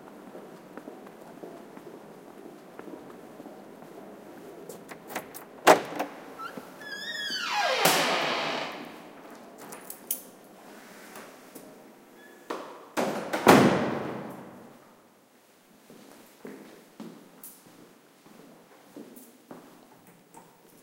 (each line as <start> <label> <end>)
5.9 Squeaky door opens 9.0
12.2 Squeaky door opens 12.5